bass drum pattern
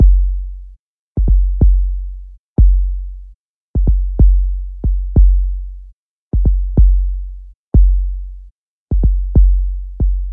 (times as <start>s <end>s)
0.0s 0.5s, 1.2s 2.0s, 2.6s 3.0s, 3.8s 5.6s, 6.4s 8.2s, 8.9s 10.3s